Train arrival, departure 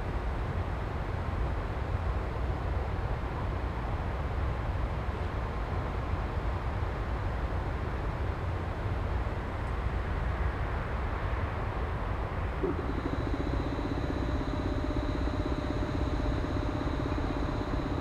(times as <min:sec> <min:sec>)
0:12.6 0:18.0